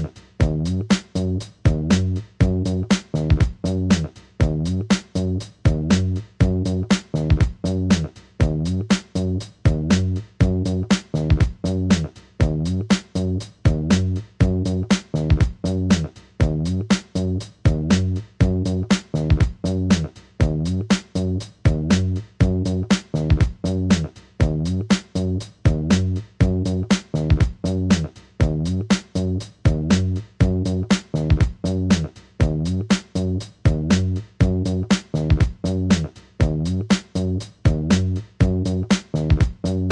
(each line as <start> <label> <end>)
0.0 bass 39.9
0.0 drums 39.9